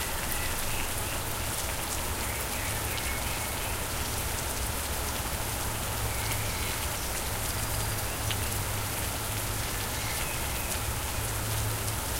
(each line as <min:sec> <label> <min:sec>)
0:00.0 rain 0:12.1